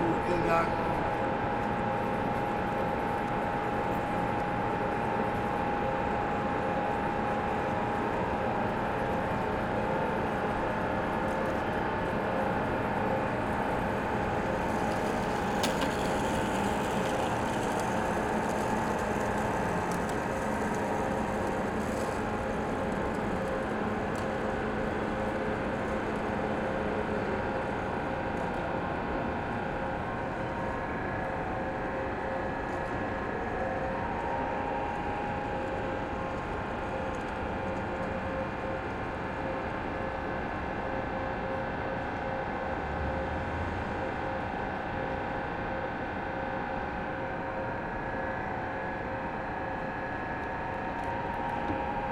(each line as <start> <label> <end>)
0.0 man is asking for money 0.9